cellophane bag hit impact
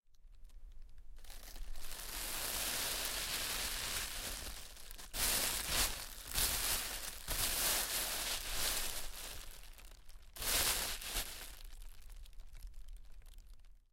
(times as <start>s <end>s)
1.2s 11.9s